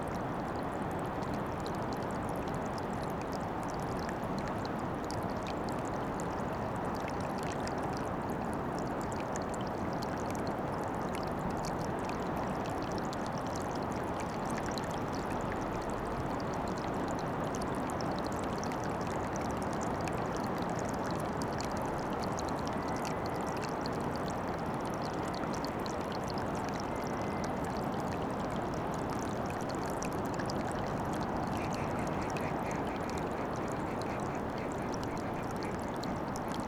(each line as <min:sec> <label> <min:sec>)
0:31.6 herring gull 0:36.6